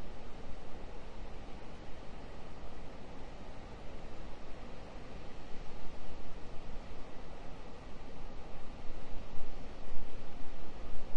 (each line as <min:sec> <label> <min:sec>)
0:00.0 wind 0:11.1